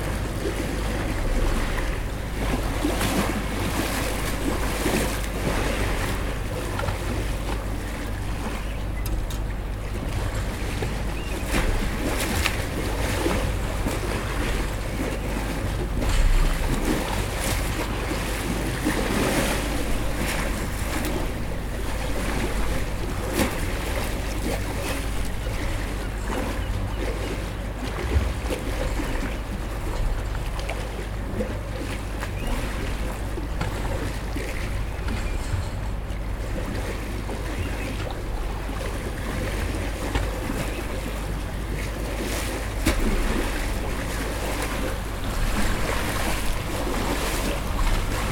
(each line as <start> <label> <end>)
0.0 waves 48.3